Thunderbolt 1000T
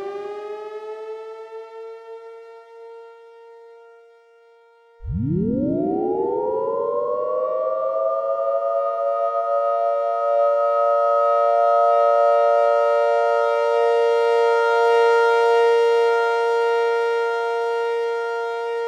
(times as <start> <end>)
5.0 8.6